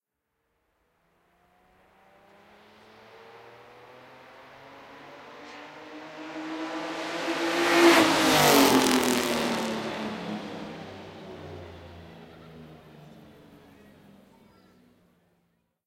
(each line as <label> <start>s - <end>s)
Pass by of the Mercedes W125 car 2.4s - 14.3s